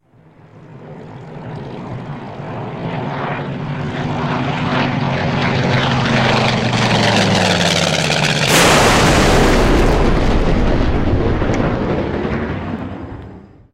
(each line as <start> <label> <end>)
0.0 Low Airplane Fly By 13.7
0.2 fire 13.5
5.4 Air plane crash sound 13.7
6.2 explosion 13.7